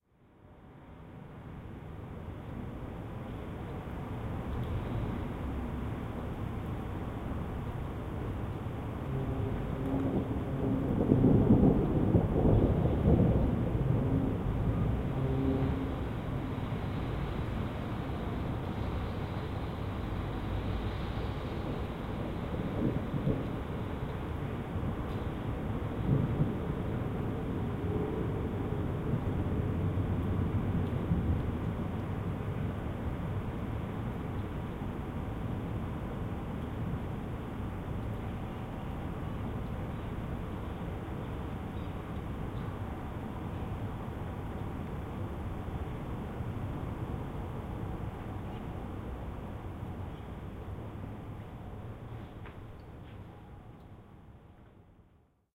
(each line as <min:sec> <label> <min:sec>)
0:08.9 Quiet rumbling of thunder 0:34.0